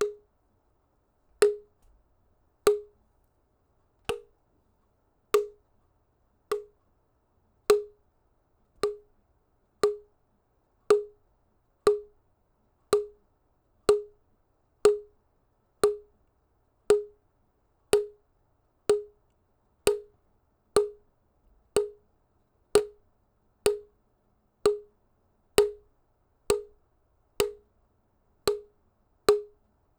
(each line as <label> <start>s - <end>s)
Plastic impact bonks 4.1s - 4.3s